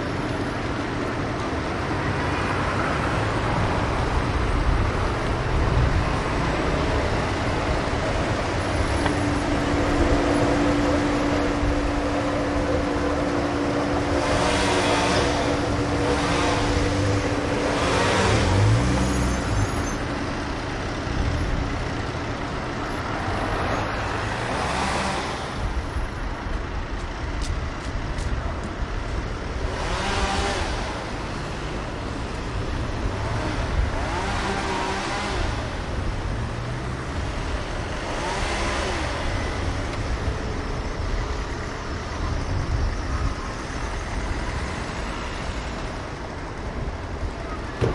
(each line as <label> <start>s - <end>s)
trams passing 0.0s - 24.8s
cars 0.0s - 47.9s
Workers cleaning some trees 7.5s - 20.2s
Workers cleaning some trees 23.6s - 25.6s
Workers cleaning some trees 29.6s - 40.8s